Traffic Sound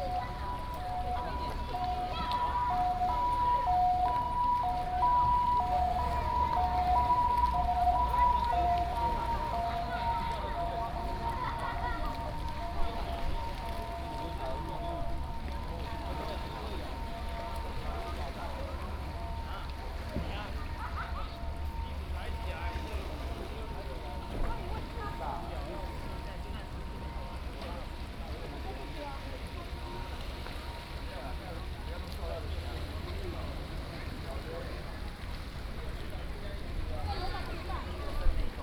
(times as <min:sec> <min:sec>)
0:00.0 0:28.0